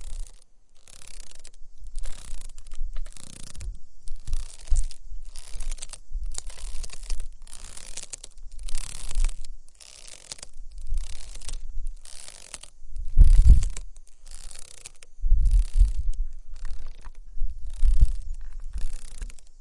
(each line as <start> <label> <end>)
0.0 ropes of a traditional swing moving on it 19.6
0.0 wind 19.6